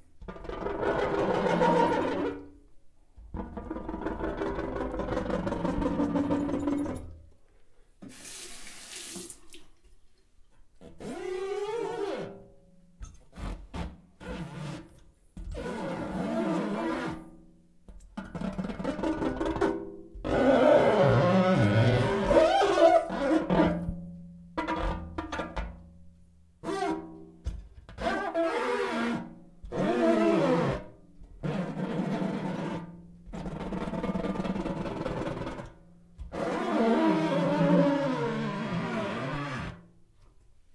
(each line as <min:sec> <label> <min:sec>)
0:36.4 mirror wet hand squeak squeal creak 0:39.8